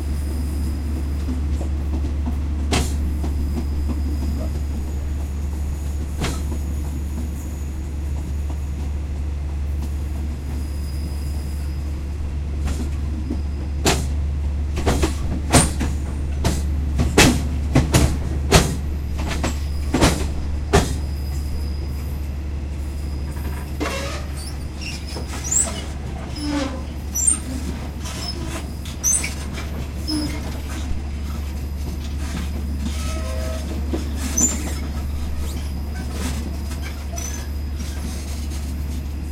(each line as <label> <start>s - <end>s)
Thai train departing from the train station 0.0s - 39.3s
metal squeals and hits 23.3s - 30.8s
metal squeals and hits 32.3s - 38.4s